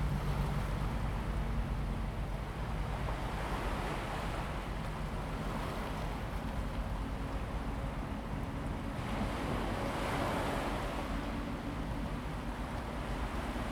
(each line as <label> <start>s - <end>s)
waves 0.0s - 13.7s